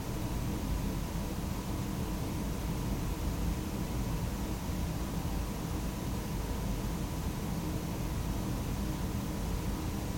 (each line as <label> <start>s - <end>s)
room noise 0.0s - 0.5s